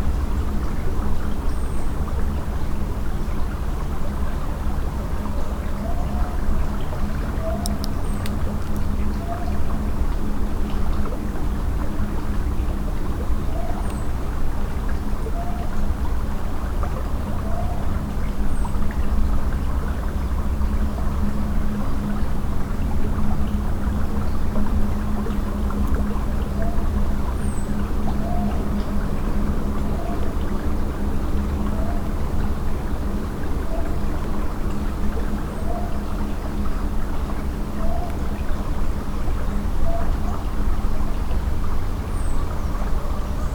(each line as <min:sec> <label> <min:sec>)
0:05.0 River song 0:15.8
0:23.2 River song 0:43.5